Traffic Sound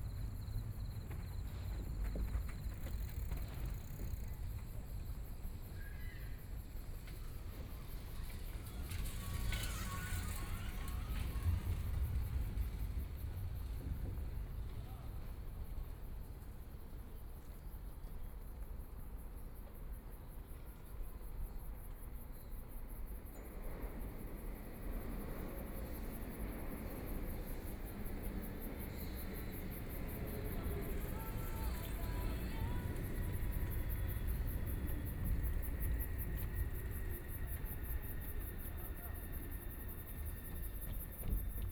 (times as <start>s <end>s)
7.0s 16.2s, 23.6s 41.7s